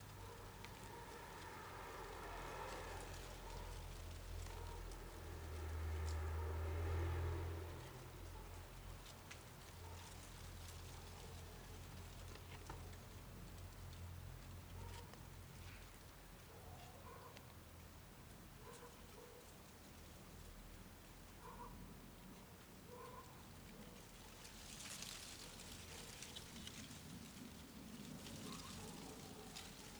rustle of dead leaves 0.0 - 16.2
mild wind 0.0 - 29.9
car 0.0 - 18.0
neighbour dog 14.7 - 17.6
neighbour dog 18.6 - 19.6
neighbour dog 21.4 - 24.1
rustle of dead leaves 23.3 - 29.9

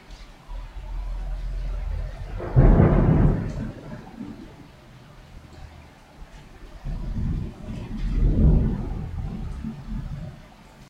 rain 0.0 - 10.8
wind 0.0 - 10.8
Thunder 1.8 - 4.7
Thunder 6.8 - 10.4

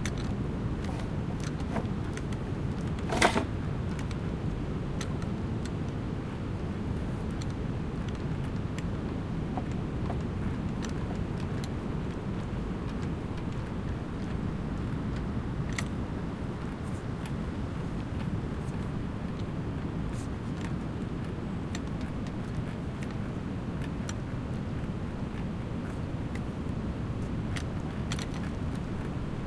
mediterranean sea 0.0 - 29.4
sounds of boats created with the wind 0.0 - 29.4

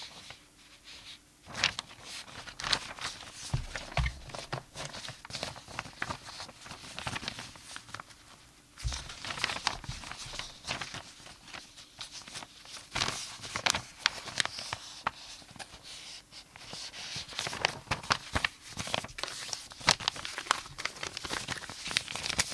messing with paper 0.0 - 22.5
'scrumpling' sounds 1.5 - 15.9
'scrumpling' sounds 16.6 - 22.5

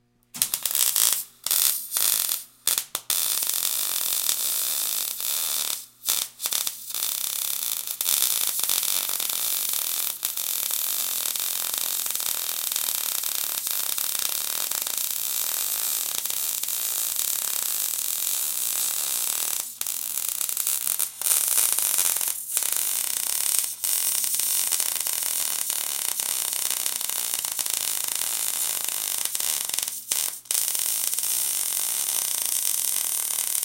welder sparks 0.4 - 33.6

